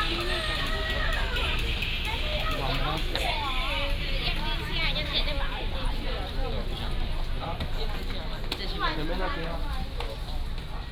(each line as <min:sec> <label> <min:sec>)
0:00.0 Traffic sound 0:10.9
0:00.0 Walking in the shopping street 0:10.9